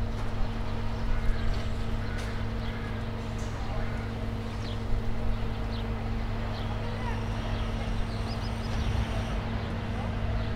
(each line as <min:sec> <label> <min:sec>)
0:00.0 Noises of the renovation works 0:10.5
0:00.0 heavy machinery in the background 0:10.5